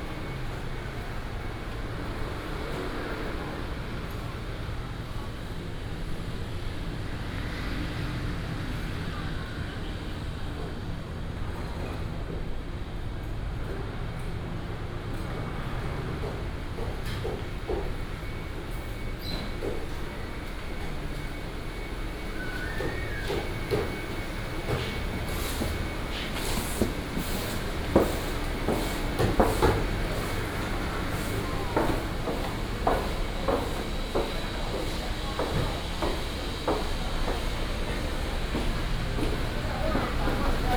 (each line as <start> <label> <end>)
0.0 traffic sound 40.7
0.0 walking in the traditional market 40.7
16.4 vendors peddling 40.7